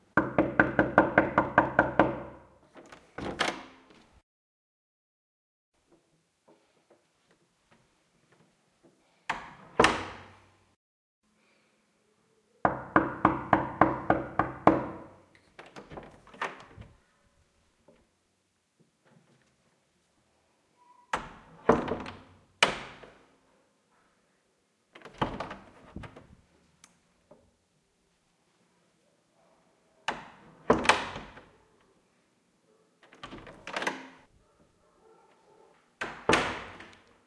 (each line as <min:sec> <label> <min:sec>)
0:00.2 Bedroom door 0:04.2
0:09.3 Bedroom door 0:10.5
0:12.7 Bedroom door 0:17.0
0:21.1 Bedroom door 0:23.3
0:25.0 Bedroom door 0:26.5
0:30.1 Bedroom door 0:31.6
0:33.0 Bedroom door 0:34.3
0:36.0 Bedroom door 0:37.2